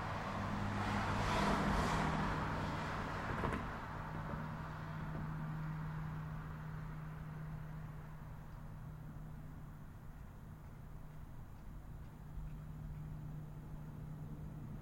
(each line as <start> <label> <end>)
0.0 street noise 14.8